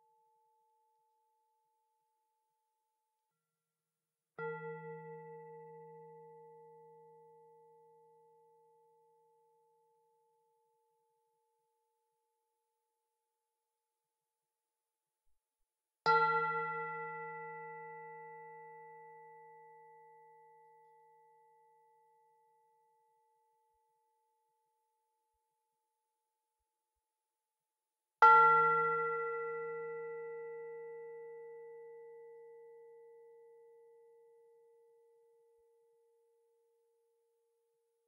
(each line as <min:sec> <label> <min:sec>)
0:04.4 singing bowl 0:10.7
0:16.1 singing bowl 0:22.8
0:28.2 singing bowl 0:37.2